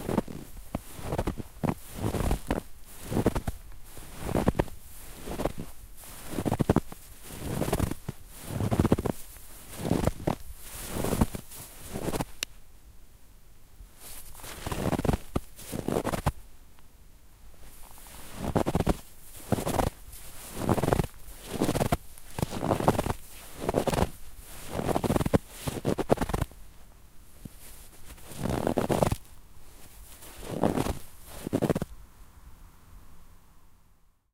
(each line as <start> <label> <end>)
0.0 Snow Steps 12.5
14.0 Snow Steps 16.4
17.6 Snow Steps 31.9